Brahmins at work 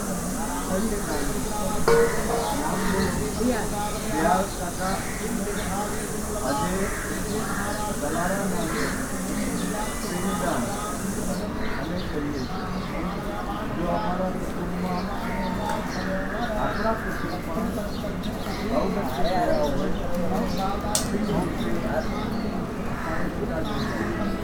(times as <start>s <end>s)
0.0s 11.4s